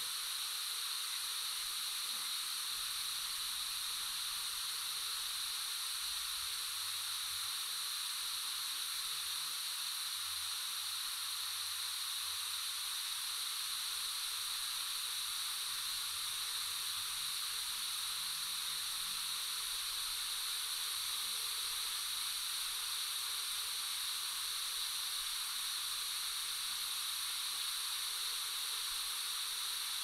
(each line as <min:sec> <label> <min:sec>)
0:00.0 Hiss 0:30.0